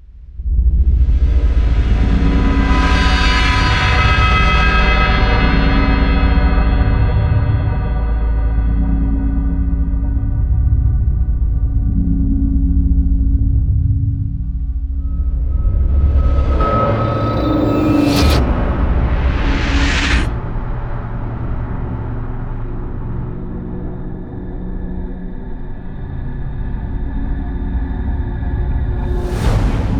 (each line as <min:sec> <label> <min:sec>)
0:00.0 bass 0:29.9
0:15.0 cymbal 0:21.6